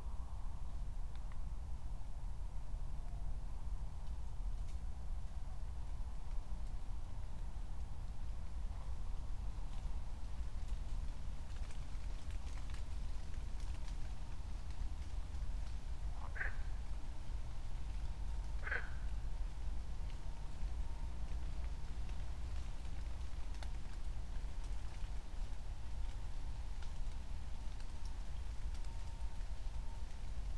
frogs 0:16.1 - 0:17.1
frogs 0:18.5 - 0:19.3

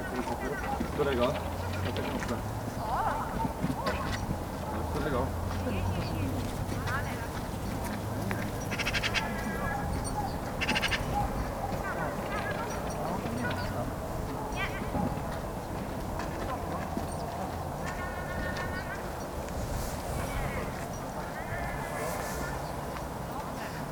dog training 0:00.0 - 0:05.3
dog training 0:07.8 - 0:19.5

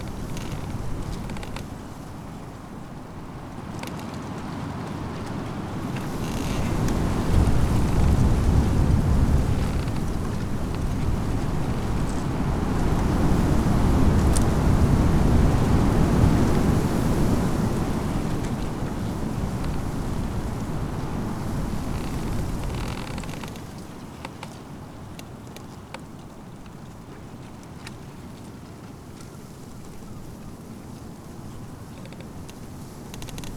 creaking bush in spring wind 0:00.0 - 0:26.8
creaking bush in spring wind 0:29.5 - 0:33.5

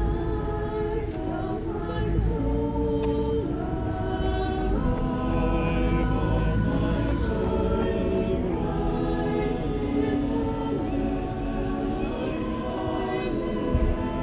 choir practicing 0:00.0 - 0:14.2
people talking 0:09.4 - 0:14.2

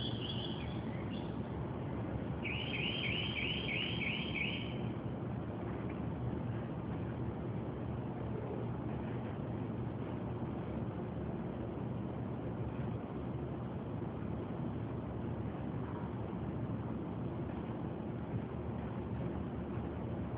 bird singing and chirping verious car alarm sounding songs 0:00.0 - 0:01.4
street noises 0:00.0 - 0:11.9
bird singing and chirping verious car alarm sounding songs 0:02.4 - 0:04.9
sirens 0:02.4 - 0:04.9

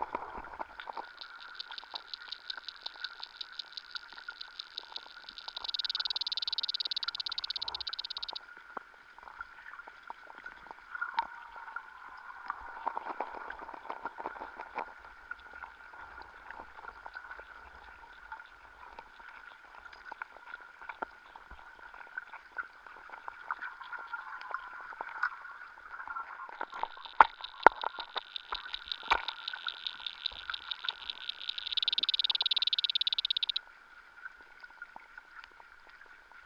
pond underwater 0:00.0 - 0:36.4

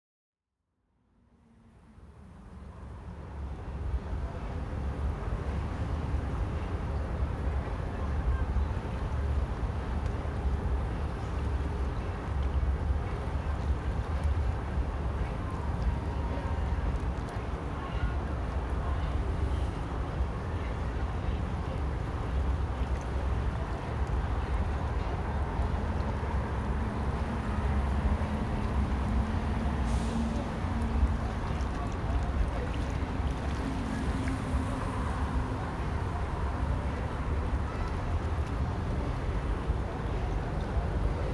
Han river 0:01.5 - 0:41.3
Cars passing by 0:09.2 - 0:41.3

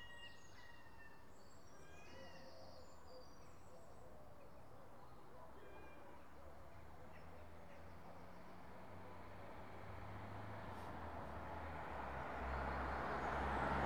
Roadside sounds 0:06.8 - 0:13.8

